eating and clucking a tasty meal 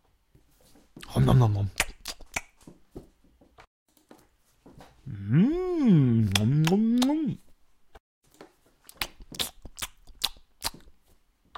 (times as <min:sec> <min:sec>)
0:08.3 0:11.5